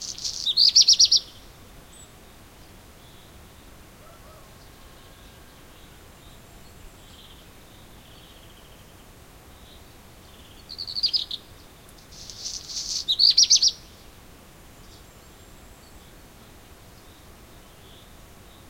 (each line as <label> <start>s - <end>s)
black redstart 0.0s - 18.6s